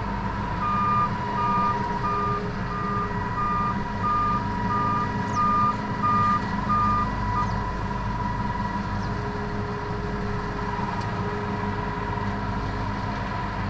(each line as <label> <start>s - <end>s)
combine harvester in the corn fields 0.0s - 13.6s